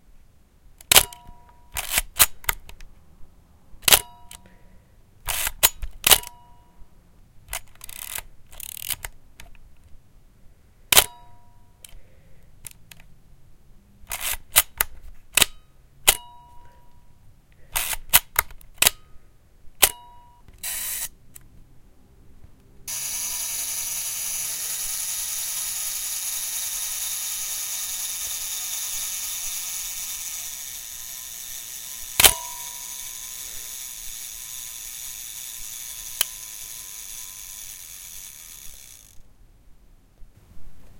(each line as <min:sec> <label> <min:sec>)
0:01.8 Camera Shutter Fire 0:02.6
0:25.8 Camera Shutter Fire 0:33.4